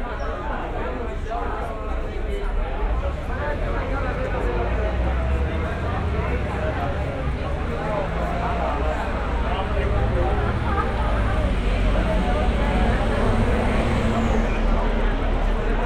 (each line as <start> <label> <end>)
0.0 noise from inside the pub 15.8
0.0 traffic noise 15.8